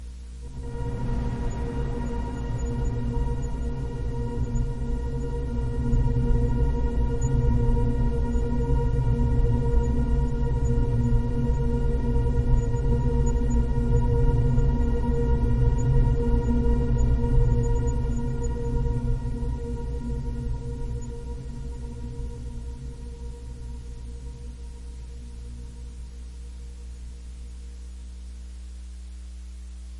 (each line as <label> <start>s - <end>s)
Drone 0.4s - 27.5s